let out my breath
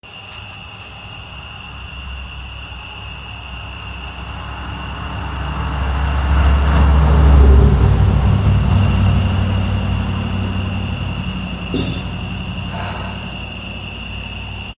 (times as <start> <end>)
11.8 13.8